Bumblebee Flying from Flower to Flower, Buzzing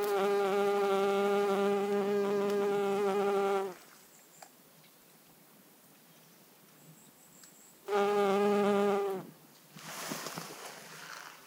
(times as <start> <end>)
0.0 3.8, 7.9 9.3